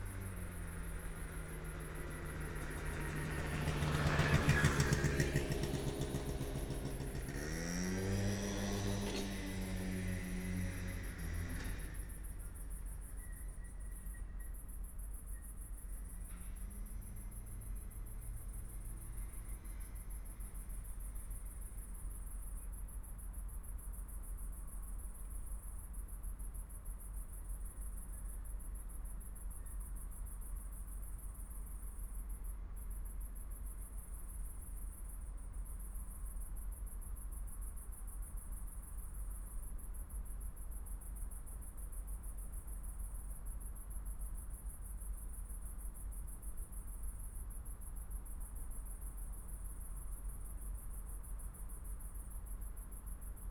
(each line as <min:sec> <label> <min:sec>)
0:00.0 crickets 0:53.5